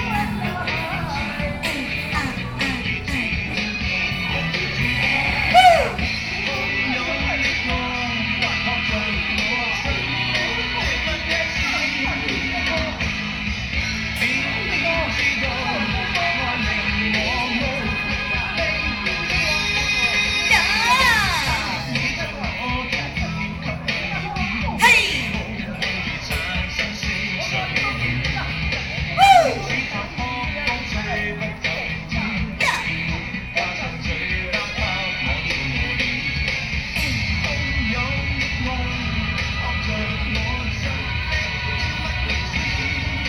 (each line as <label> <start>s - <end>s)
Taiwanese opera 0.0s - 6.4s
Taiwanese opera 20.3s - 22.4s
Taiwanese opera 24.7s - 25.7s
Taiwanese opera 29.1s - 30.1s
Taiwanese opera 32.6s - 33.3s